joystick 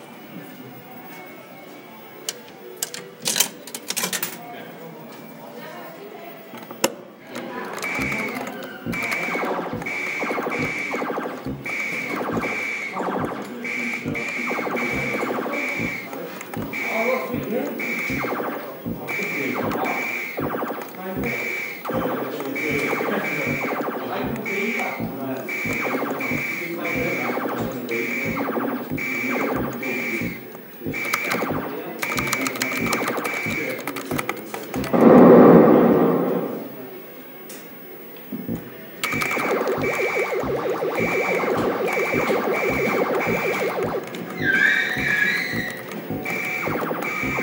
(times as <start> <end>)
7.4 35.2, 38.5 47.4